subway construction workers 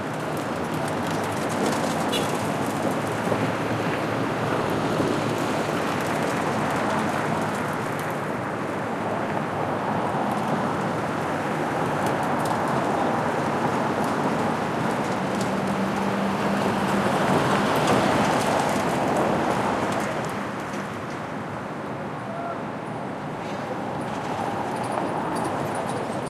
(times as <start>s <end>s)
21.9s 26.2s